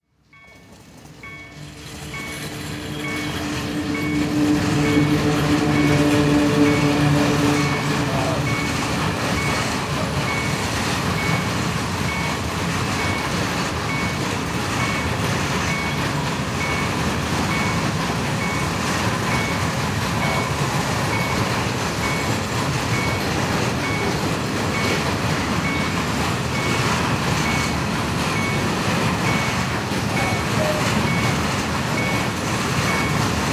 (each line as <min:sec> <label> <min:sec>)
0:00.0 cargo train 0:33.5